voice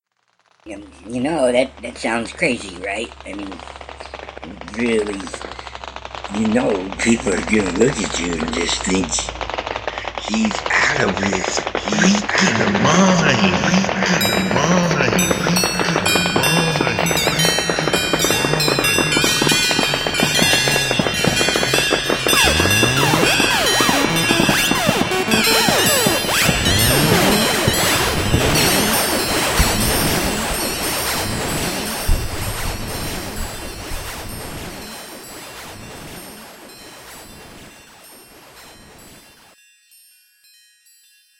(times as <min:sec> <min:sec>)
0:00.7 0:05.7, 0:06.3 0:09.3, 0:09.9 0:20.9, 0:22.3 0:30.4